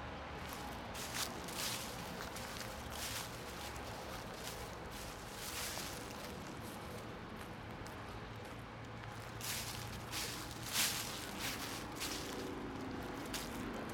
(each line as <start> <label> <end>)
0.5 Dryleaves 6.9
9.4 Dryleaves 13.9